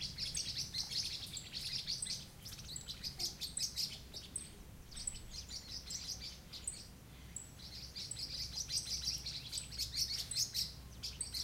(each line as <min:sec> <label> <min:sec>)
0:00.0 chorus of bird calls 0:11.4